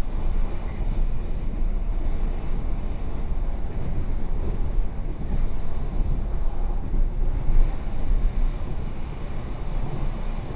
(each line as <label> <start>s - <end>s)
Local Train 0.0s - 10.5s